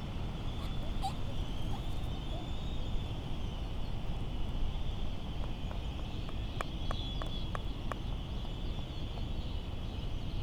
island traffic noise 0.0 - 3.4
laysan albatross calls 0.4 - 2.6

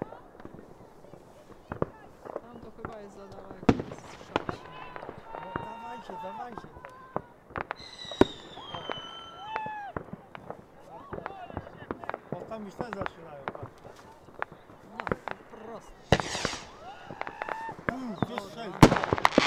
Fireworks 0.0 - 19.4
people shouting 4.2 - 12.0
people shouting 16.1 - 18.5

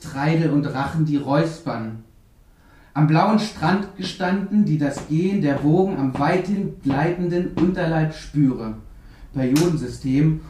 lecture 3.0 - 8.6

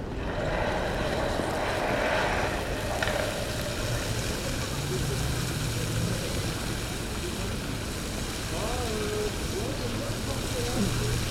démarrage du jet d'eau de la fontaine sculpture 0.1 - 11.3

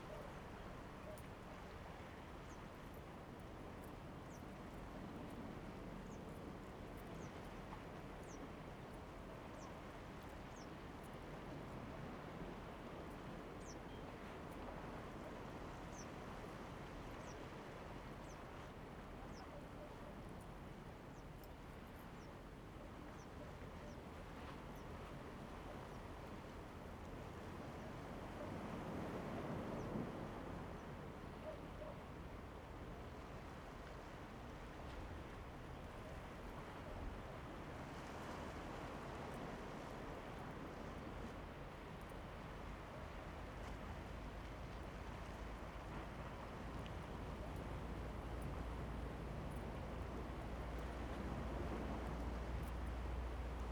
waves 0.0 - 53.7

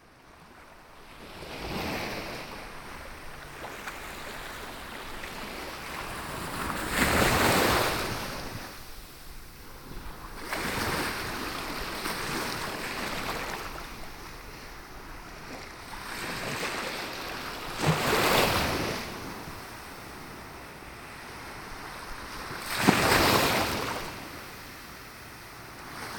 waves 0.1 - 26.1

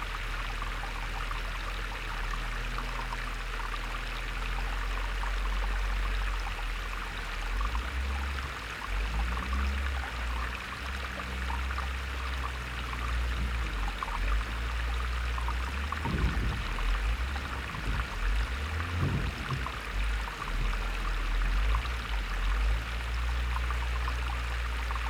Water pump 0.0 - 25.0

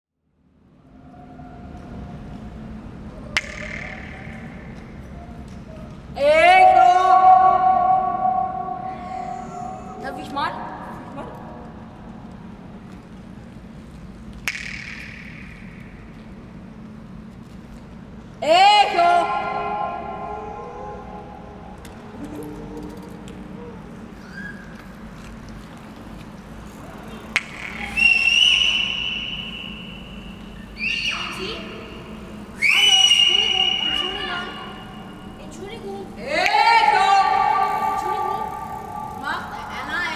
echoes of the concrete space 0.1 - 40.1
local kids 18.4 - 40.1

